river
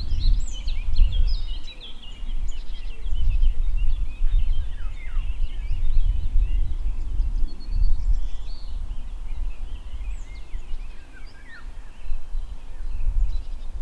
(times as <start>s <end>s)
8.2s 13.8s